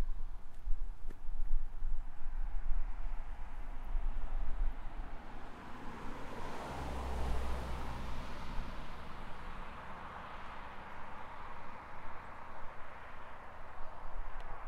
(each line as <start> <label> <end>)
3.0 Cars driving past a parking area 14.4